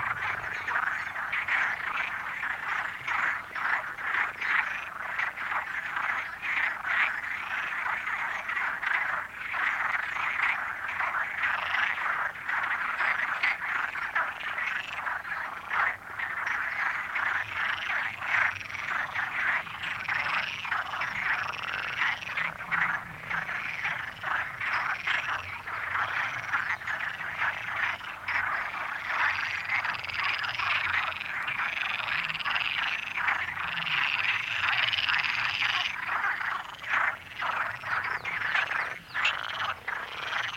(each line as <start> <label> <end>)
0.0 Frogs chatting in the lake 40.5